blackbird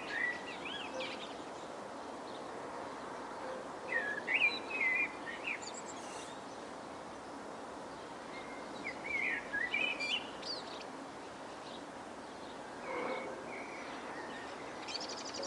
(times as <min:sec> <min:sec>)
0:00.0 0:01.7, 0:03.4 0:06.5, 0:12.4 0:15.4